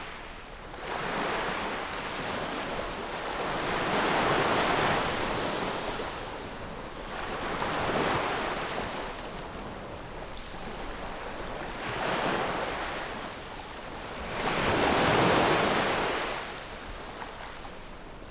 waves 0:00.0 - 0:18.3

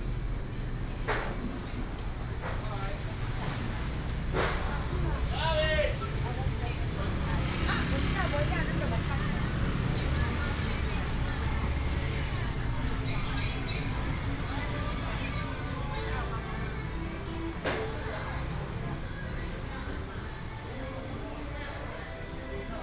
Traffic sound 0:00.0 - 0:22.8
Walking in the old market 0:00.0 - 0:22.8

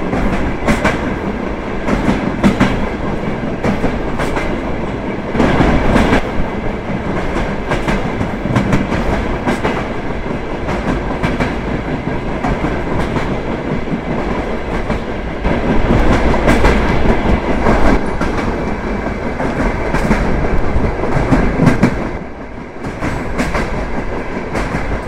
Eisenbahn 0:00.0 - 0:25.0

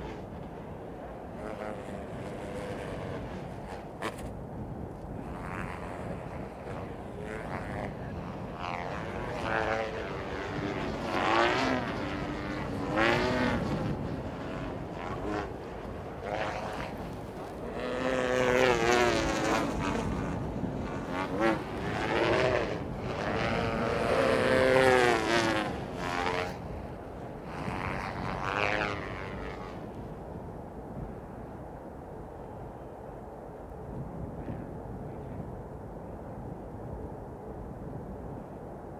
Sychronous kite flying 0:00.0 - 0:38.9

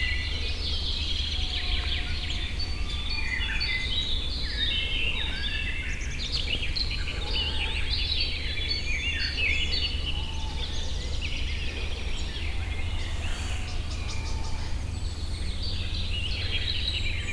local traffic 0:11.0 - 0:17.3
bird calls 0:11.6 - 0:15.8

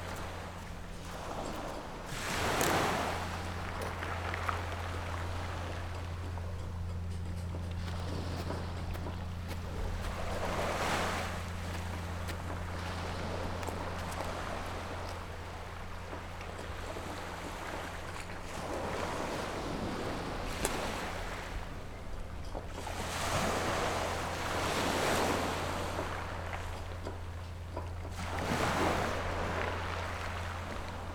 waves 0:00.0 - 0:31.1

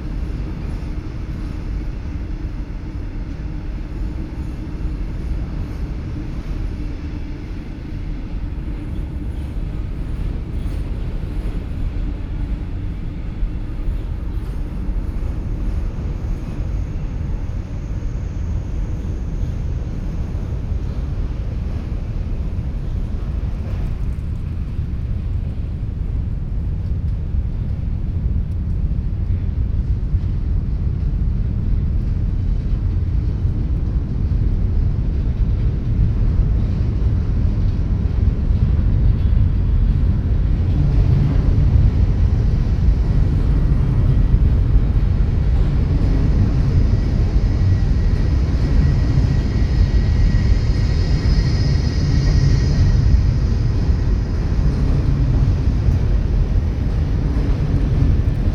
trains passing the iron rhine bridge 0:00.0 - 0:58.5

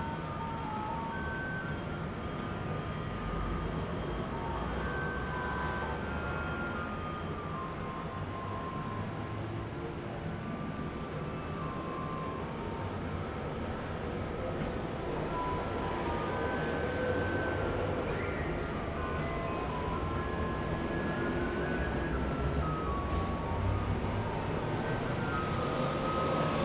Garbage truck arrived 0:10.3 - 0:26.6
traffic sound 0:10.8 - 0:26.6

